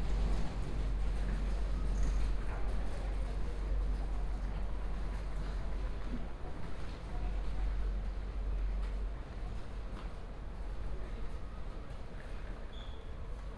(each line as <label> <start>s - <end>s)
Railway platform announcement 0.0s - 13.5s